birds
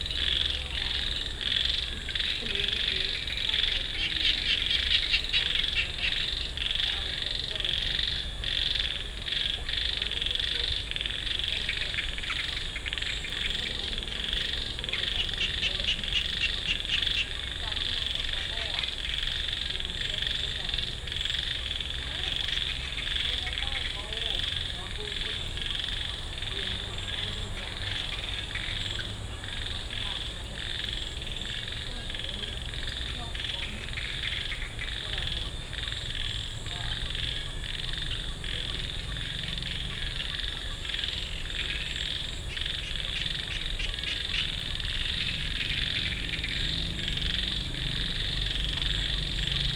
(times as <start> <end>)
10.3 19.8, 21.4 49.7